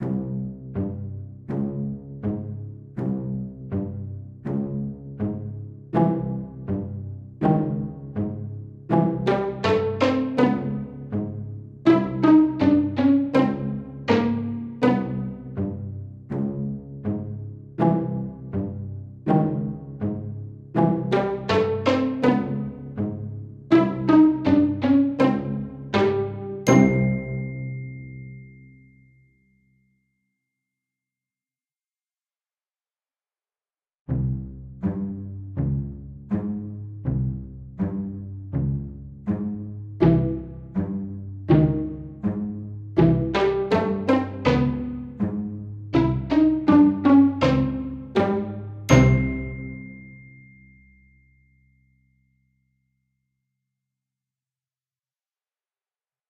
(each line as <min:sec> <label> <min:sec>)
0:00.0 Pizzicato 0:28.1
0:25.9 glockenspiel 0:30.4
0:34.1 Pizzicato 0:50.3
0:47.1 glockenspiel 0:52.4